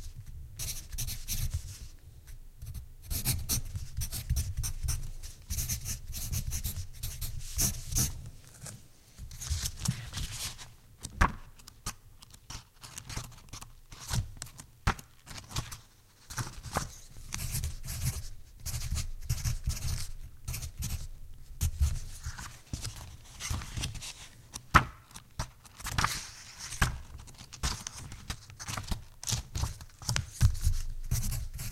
Pencil writing on paper 5.5 - 8.1
Pencil writing on paper 30.6 - 31.7

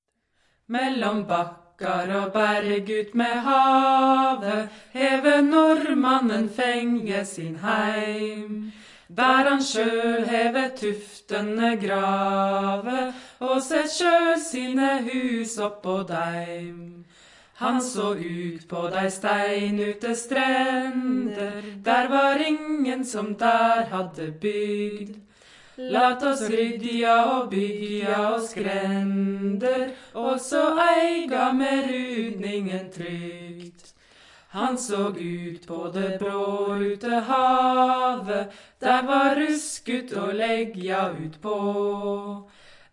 folk song 0.4 - 42.9

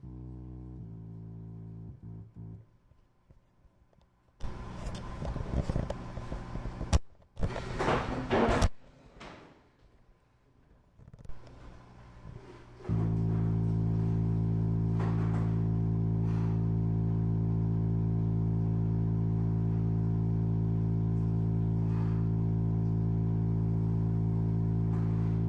random organ notes being played 0.0 - 2.6

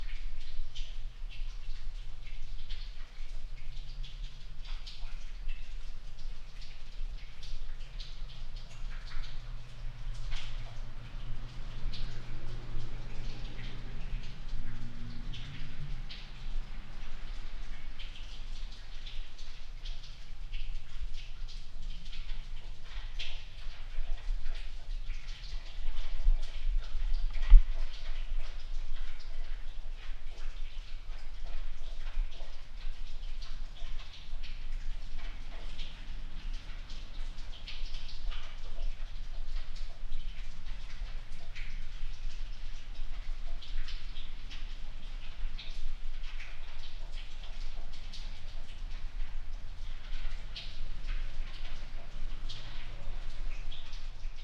snow melt drips and runs through the cracks 0.0 - 54.4

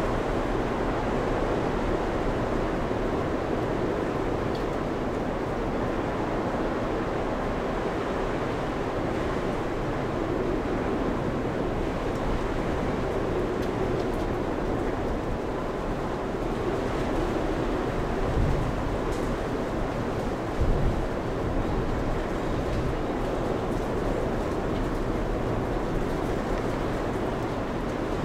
wind 0.0 - 28.2
storm 11.7 - 28.2

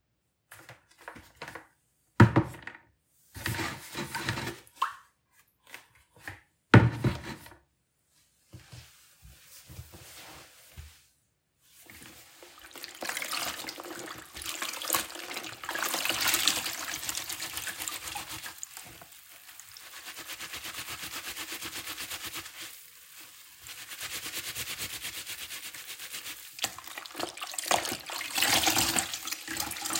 hand washing 11.7 - 29.9
fabric scrubbing 11.7 - 29.8
Bucket handling 11.9 - 19.6

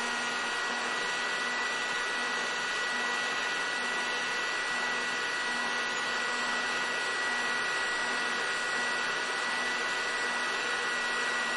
Hair Dryer sound on multiple speeds 0.0 - 11.5

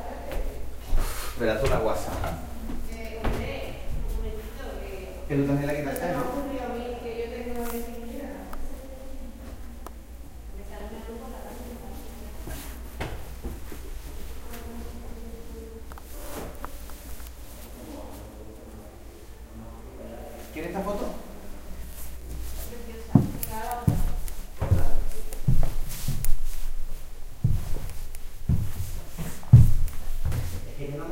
footsteps on wooden floor 12.4 - 14.7
footsteps on wooden floor 22.0 - 30.8

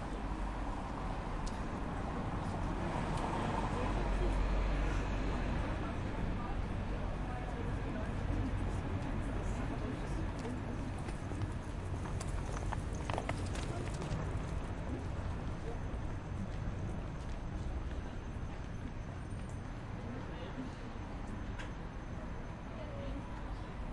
traffic 0.0 - 23.9

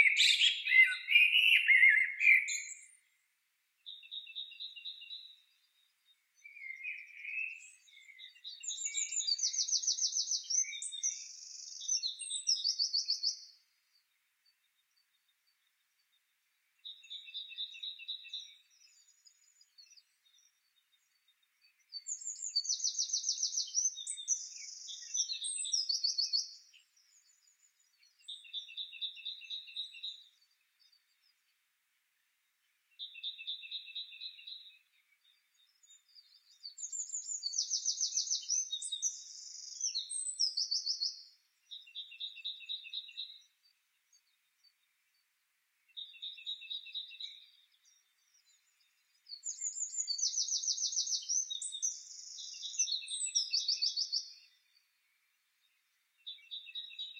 robin 0.0 - 31.6
blackbird 0.0 - 57.1
robin 45.9 - 57.1

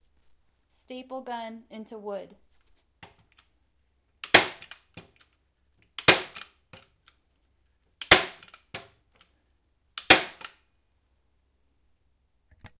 Staple gun into wood 4.2 - 5.2
Staple gun into wood 6.0 - 6.5
Staple gun into wood 8.0 - 8.9
Staple gun into wood 10.0 - 10.6

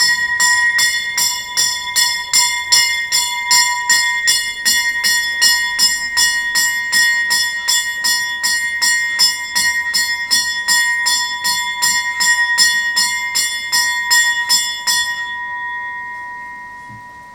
ice cream truck 0.0 - 9.9

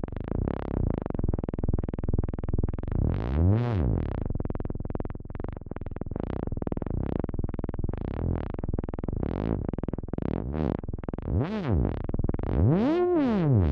synthesized wobbly effect sound 12.7 - 13.7

